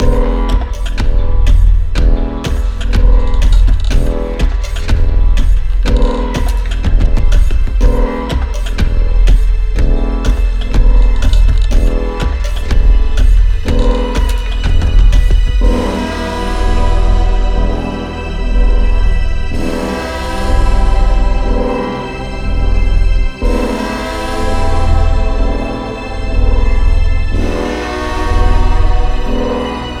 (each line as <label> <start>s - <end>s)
simple drums 0.0s - 17.9s
kick-like root drum 0.0s - 17.9s
acid-leaning bassline 0.0s - 30.0s
hallucinogenic wood percussion 0.0s - 30.0s
organic analogue pad 0.0s - 30.0s